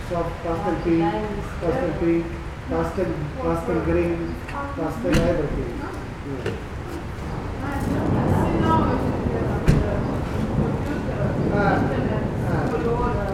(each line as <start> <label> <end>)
0.0 People gathering in front the covered entrance 13.3
0.0 rain 13.3